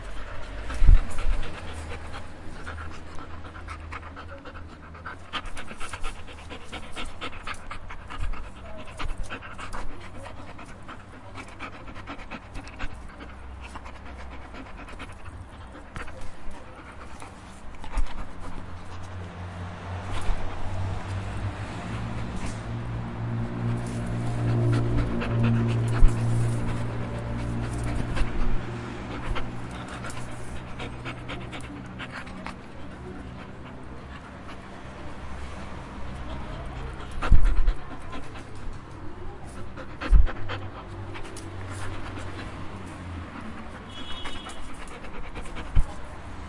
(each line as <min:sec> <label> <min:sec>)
0:00.0 Dog Breathing 0:46.4